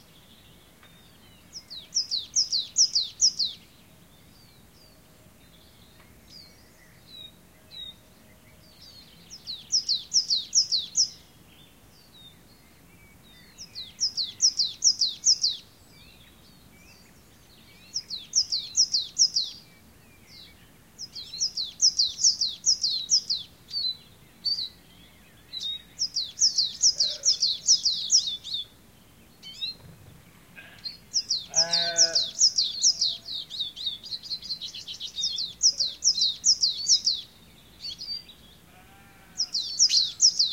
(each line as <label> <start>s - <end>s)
sheep 31.5s - 32.3s
sheep 38.7s - 39.5s